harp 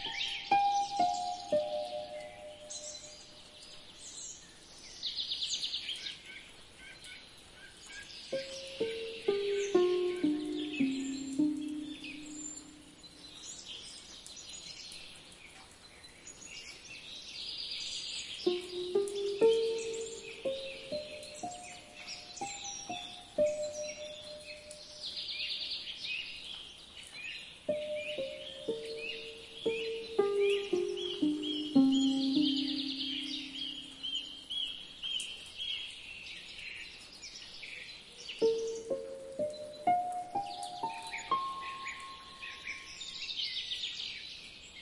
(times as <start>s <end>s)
0.0s 3.4s, 8.3s 13.0s, 18.5s 25.0s, 27.7s 34.4s, 38.4s 42.9s